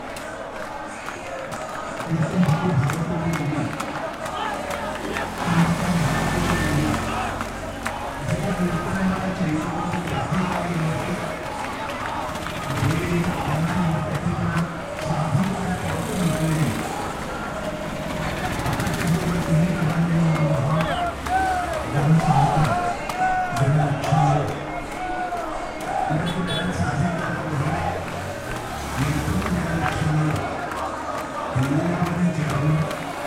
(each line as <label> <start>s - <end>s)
chant 0.0s - 33.2s